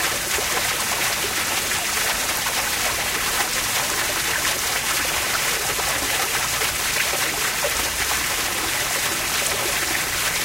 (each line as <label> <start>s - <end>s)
Pond Fountain loud 0.0s - 10.4s